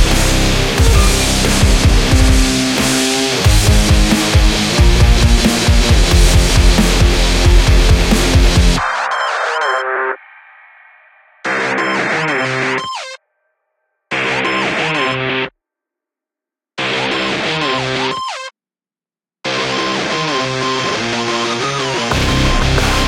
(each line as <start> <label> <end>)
0.0 sitar 3.8
0.0 modem 10.2
0.0 synth 13.2